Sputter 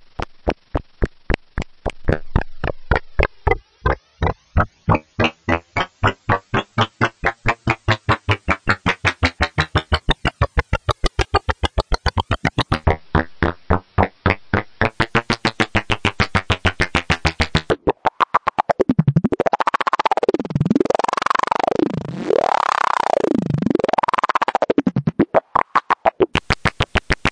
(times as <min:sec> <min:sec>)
0:00.0 0:18.8